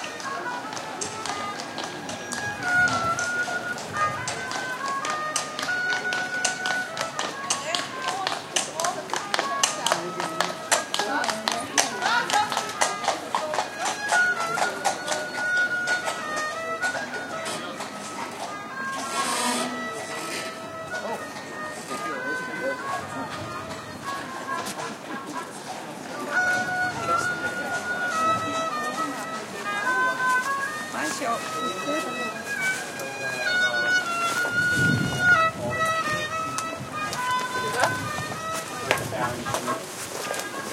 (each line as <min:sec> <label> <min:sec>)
0:00.0 street musician playing a 'funky' violin 0:40.7
0:06.2 voices in different languages 0:40.7
0:34.4 wind noise 0:40.0